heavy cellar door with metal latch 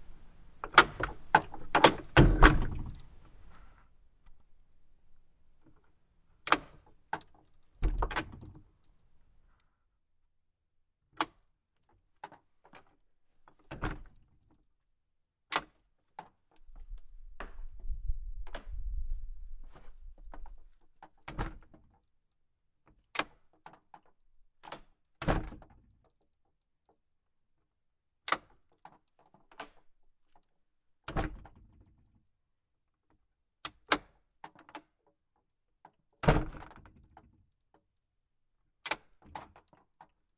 0.6s 3.3s, 6.4s 8.7s, 13.5s 14.2s, 15.5s 16.5s, 18.4s 18.9s, 21.0s 21.8s, 23.1s 25.8s, 28.2s 29.9s, 31.0s 31.7s, 36.2s 37.2s, 38.8s 40.0s

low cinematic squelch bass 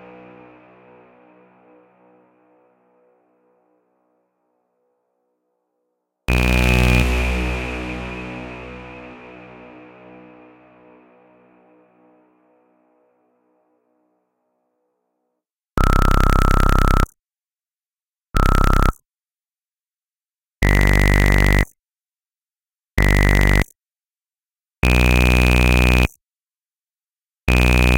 6.3s 11.2s, 27.5s 27.9s

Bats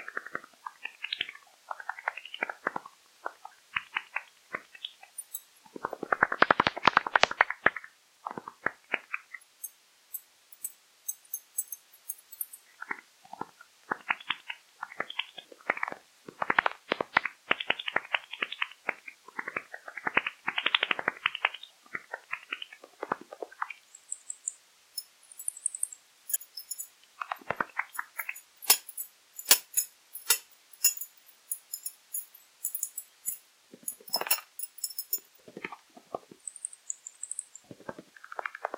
24.0s 26.9s

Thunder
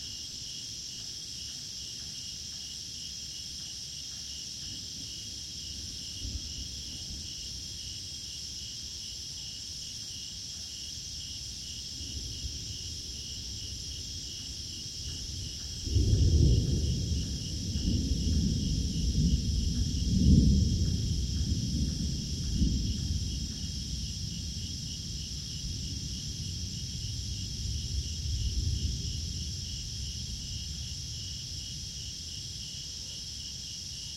4.6s 8.1s, 11.7s 34.1s

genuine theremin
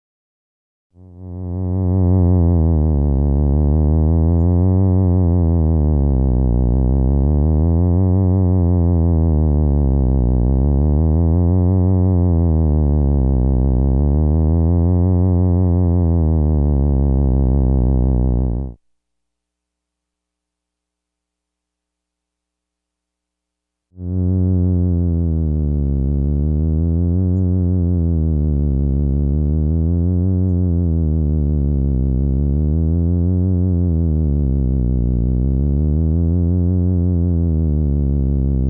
24.0s 38.6s

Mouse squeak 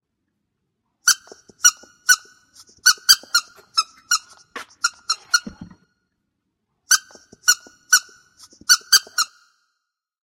1.1s 5.8s, 6.9s 9.4s

